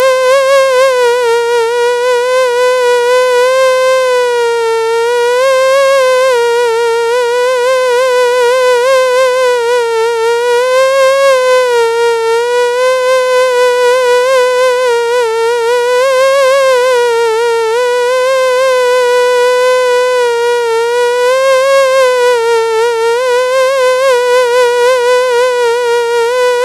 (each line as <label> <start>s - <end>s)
Single Mosquito Buzz 0.0s - 26.6s